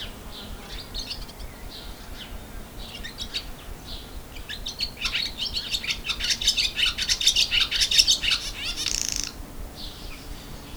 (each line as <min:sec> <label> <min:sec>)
0:00.0 bird 0:10.7